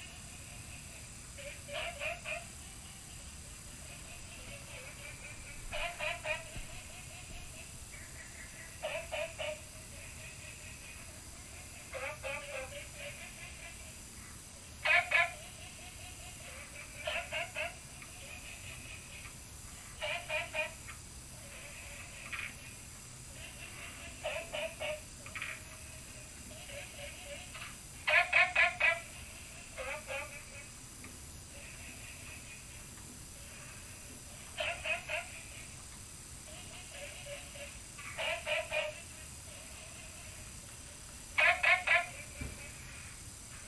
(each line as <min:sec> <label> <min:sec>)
0:35.5 Frog calls 0:43.6